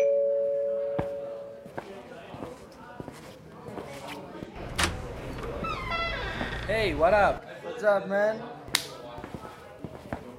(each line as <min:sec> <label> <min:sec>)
0:01.0 friends meeting with some alcoholic drinks 0:07.8